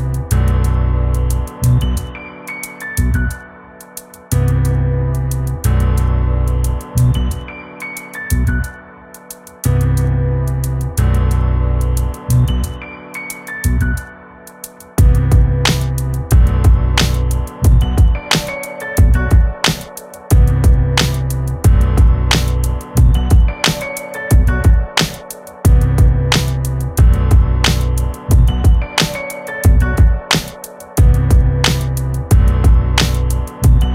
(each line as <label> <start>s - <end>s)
bass 0.0s - 2.3s
piano 0.0s - 33.9s
bass 2.9s - 3.4s
bass 4.3s - 7.6s
bass 8.2s - 8.8s
bass 9.6s - 14.2s
bass 15.0s - 25.1s
drum 15.0s - 33.9s
bass 25.7s - 33.9s